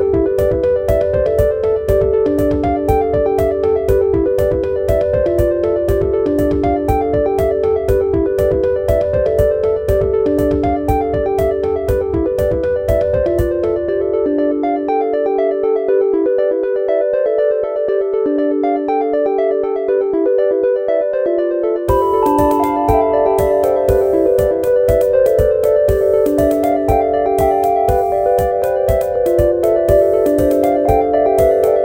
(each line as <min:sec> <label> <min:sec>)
0:10.9 electronic musical theme 0:31.8